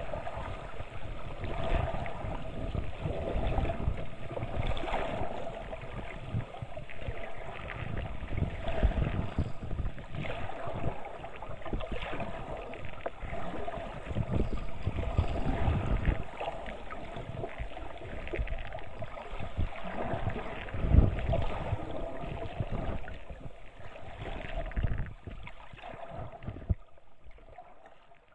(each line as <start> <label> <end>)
0.0 water 28.3